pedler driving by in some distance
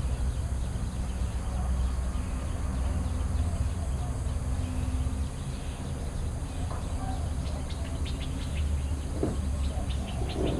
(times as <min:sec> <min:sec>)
0:04.5 0:10.5